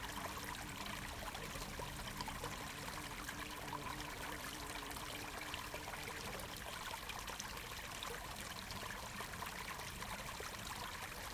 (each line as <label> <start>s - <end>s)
small spring stream 0.0s - 11.3s